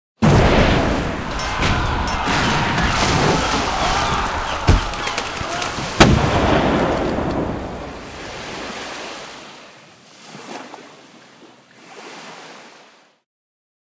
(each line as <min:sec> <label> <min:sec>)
0:00.2 fight 0:08.1
0:00.2 cannon 0:08.2